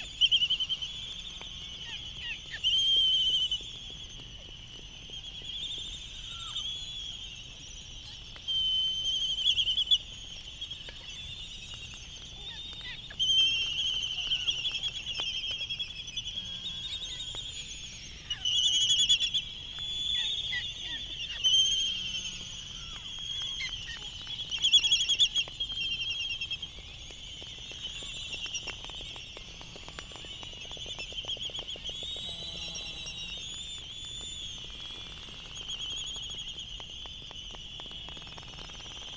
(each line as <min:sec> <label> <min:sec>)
0:08.0 canaries 0:36.7